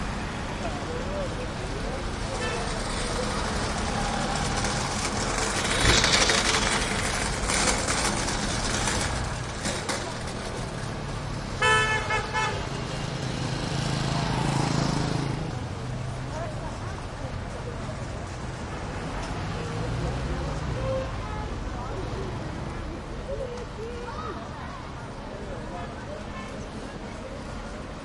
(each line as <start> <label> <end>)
0.0 people 11.1
0.0 medium traffic 28.0
2.3 metal cart push by rattle loudly 11.1
16.1 people 28.0